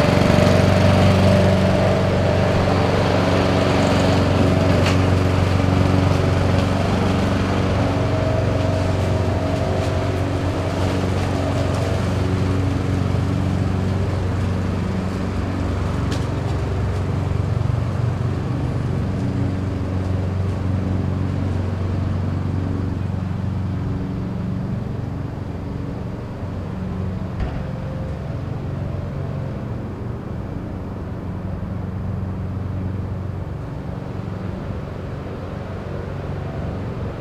mower 0:00.0 - 0:37.2

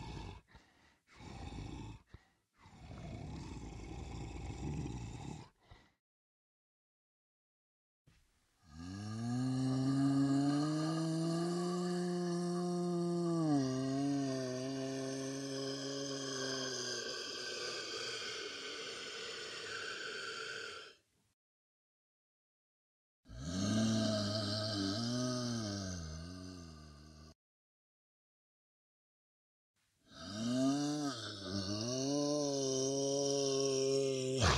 growl 0:00.0 - 0:06.0
growl 0:08.6 - 0:21.0
growl 0:23.3 - 0:27.4
growl 0:30.1 - 0:34.5

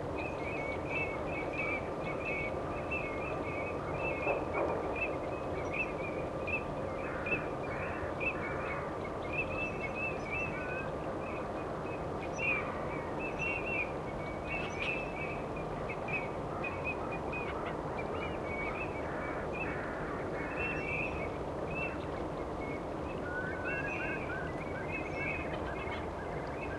wading birds 0:00.0 - 0:26.7

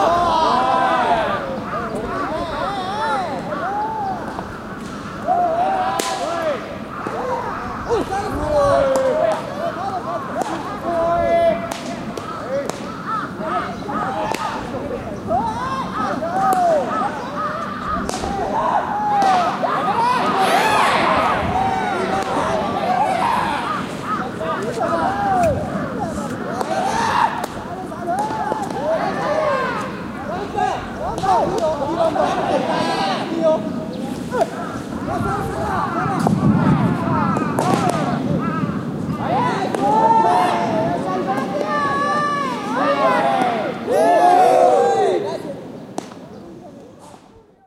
cries made by a Japanese baseball team warming up 0:00.0 - 0:47.6
bat 0:06.0 - 0:06.4
bat 0:17.6 - 0:18.4
bat 0:37.4 - 0:38.2

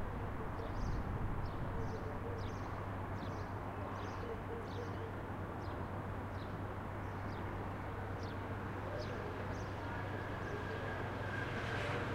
traffic 0:00.0 - 0:12.1
birds 0:00.4 - 0:11.6
train 0:08.6 - 0:12.1

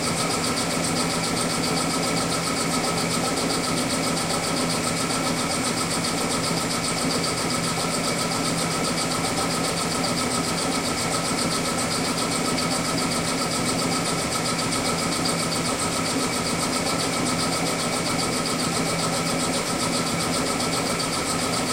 engine 0:00.0 - 0:21.7

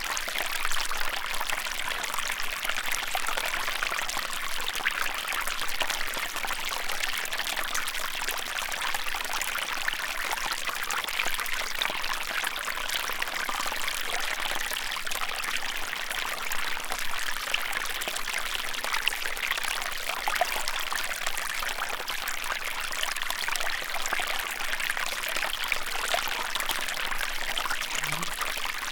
small streams 0:00.0 - 0:28.9

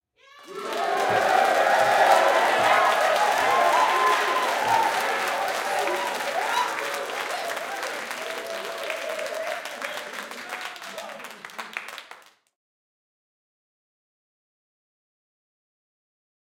Long Applause 0:00.3 - 0:12.6

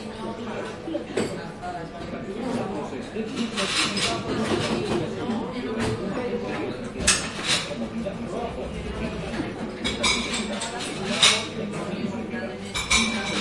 people talking 0:00.0 - 0:13.4
plates 0:09.3 - 0:11.9
plates 0:12.6 - 0:13.4

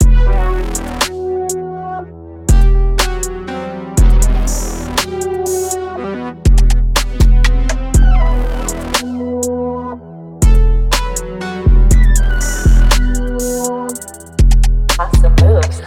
bass 808 0:00.0 - 0:01.2
synths 0:00.0 - 0:15.8
bass 808 0:02.5 - 0:03.4
bass 808 0:04.0 - 0:05.8
intense percussion 0:06.5 - 0:09.2
bass 808 0:06.5 - 0:09.2
bass 808 0:10.4 - 0:15.8
intense percussion 0:10.4 - 0:15.8
vocal 0:15.0 - 0:15.8

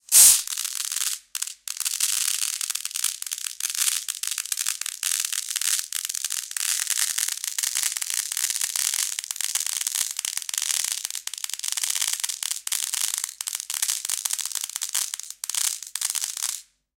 small nails falling slowly on a plate of Plexiglas 0:00.1 - 0:16.6

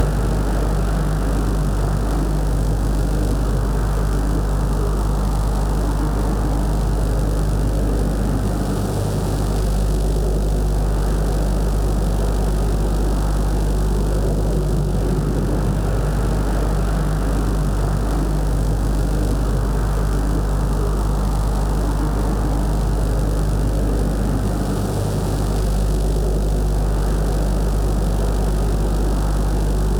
humming, sizzeling Powerline 0:00.0 - 0:10.0
flying airplanes 0:12.2 - 0:25.6
humming, sizzeling Powerline 0:28.0 - 0:29.9

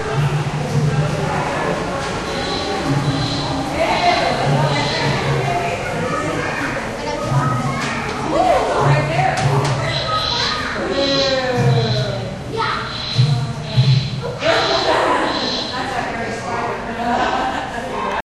animals 0:02.2 - 0:06.7
animals 0:09.4 - 0:12.2

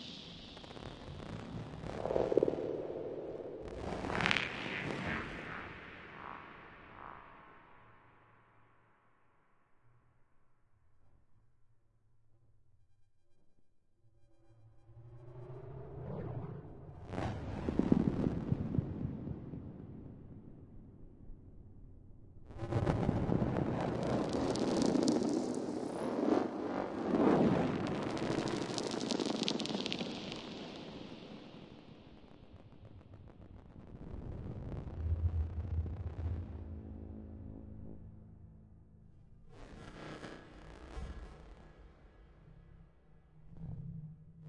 drone 0:34.5 - 0:39.1

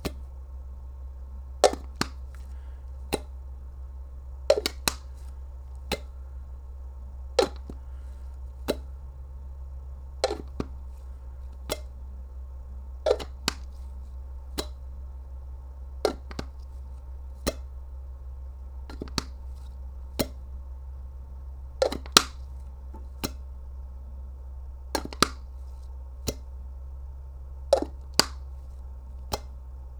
plastic cookie jar opening and closing 0:10.2 - 0:11.9

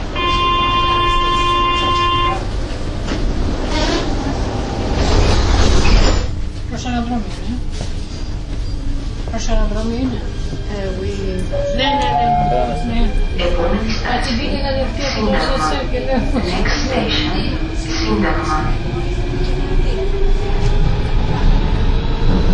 metro 0:00.0 - 0:22.5

